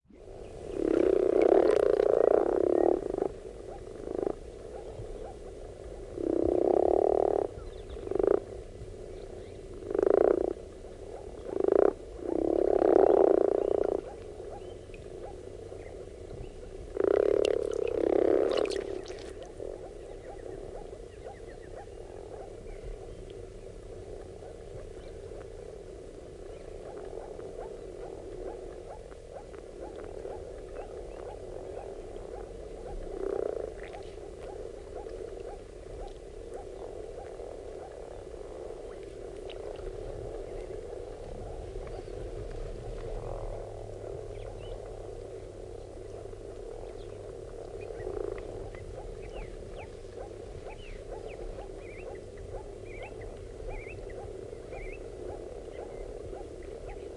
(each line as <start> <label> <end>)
0.1 Frogs croaking 57.1